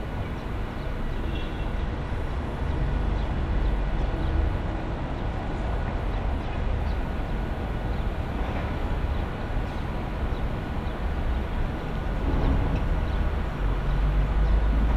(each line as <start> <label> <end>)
0.0 street noise 14.9
6.8 construction work 14.9